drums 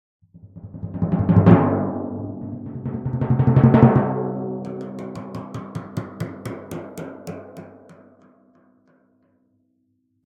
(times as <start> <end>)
0.3 8.0